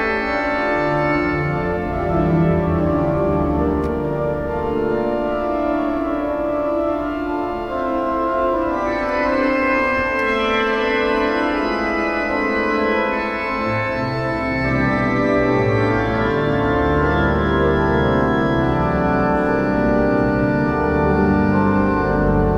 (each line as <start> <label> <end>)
0.0 Organ concert 22.5